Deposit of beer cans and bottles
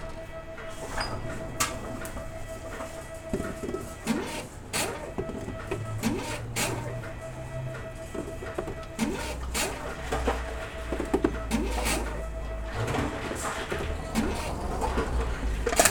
0:12.8 0:15.9

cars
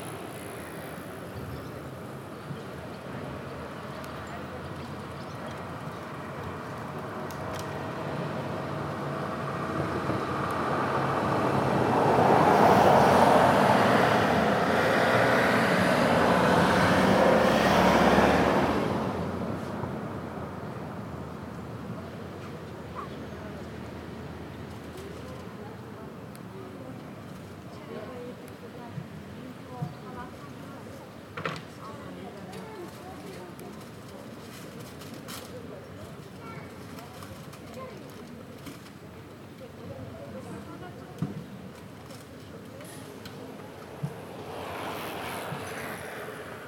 0:00.0 0:25.6, 0:41.2 0:46.6

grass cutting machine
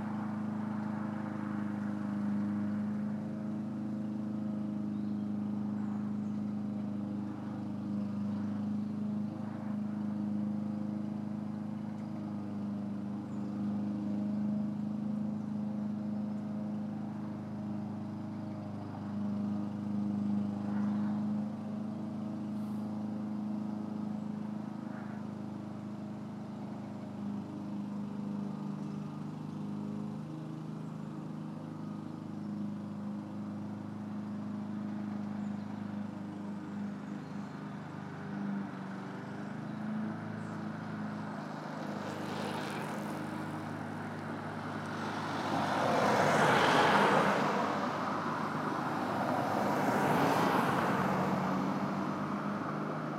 0:16.7 0:53.1

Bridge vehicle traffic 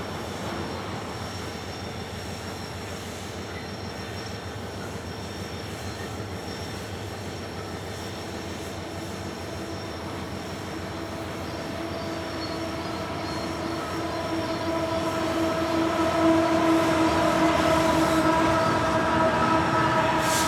0:08.2 0:20.4

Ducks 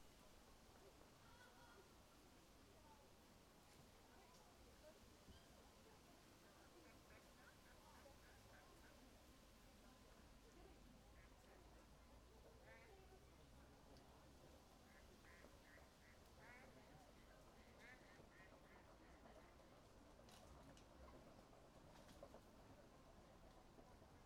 0:06.6 0:09.0, 0:11.1 0:13.8, 0:14.7 0:22.4

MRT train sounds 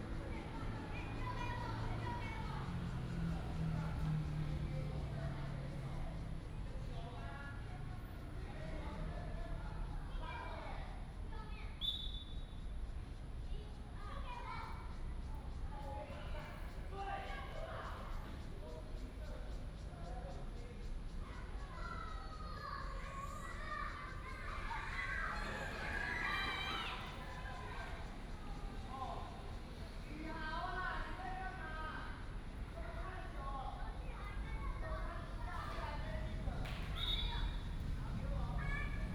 0:00.0 0:07.0, 0:22.4 0:39.1

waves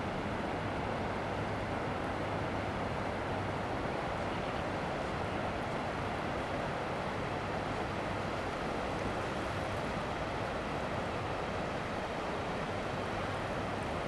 0:05.9 0:14.0

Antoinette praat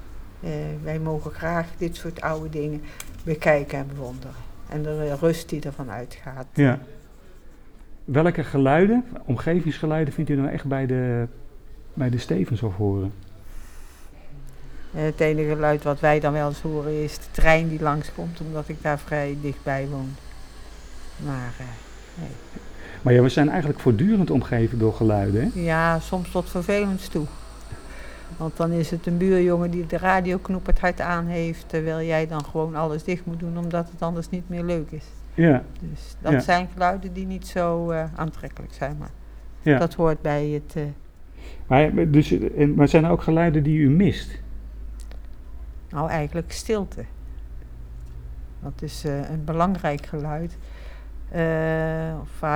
0:00.3 0:06.7, 0:13.6 0:23.9, 0:24.8 0:41.0

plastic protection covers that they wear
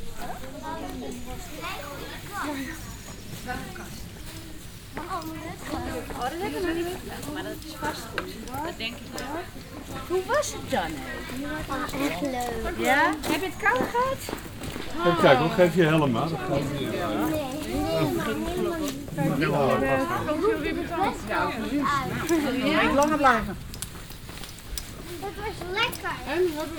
0:22.2 0:26.7

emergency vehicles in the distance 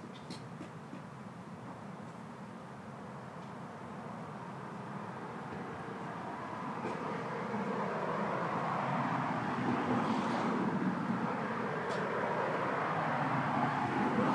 0:03.8 0:14.3

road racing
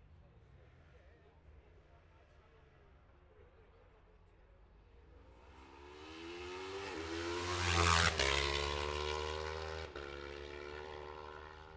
0:05.1 0:11.7

